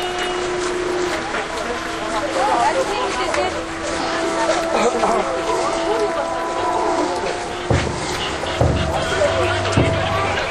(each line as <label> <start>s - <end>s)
religious procession 0.0s - 10.5s